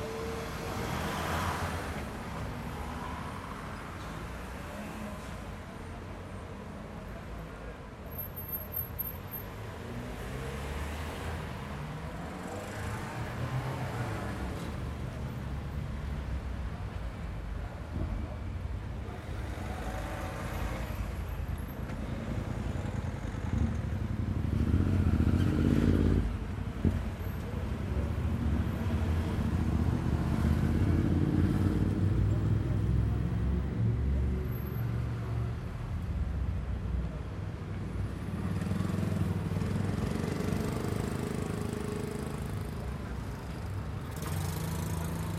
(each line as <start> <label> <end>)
0.0 Medium traffic 45.3